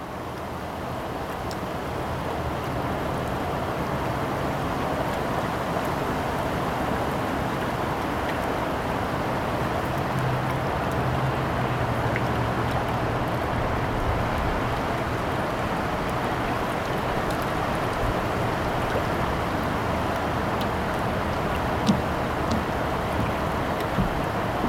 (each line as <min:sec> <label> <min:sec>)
0:00.0 gentle trickle of the river 0:24.6
0:00.0 roar of the waterfall 0:24.6